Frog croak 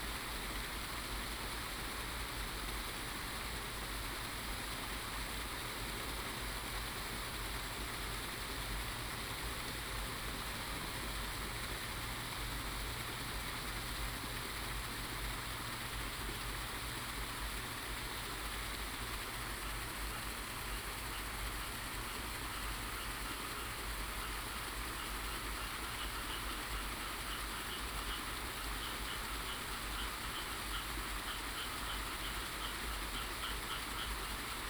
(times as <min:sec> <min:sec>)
0:22.4 0:34.6